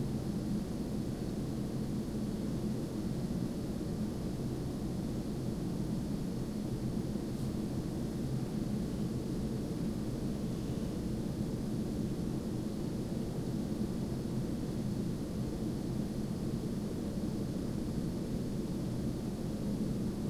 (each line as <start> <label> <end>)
0.0 Air conditioner unit 20.2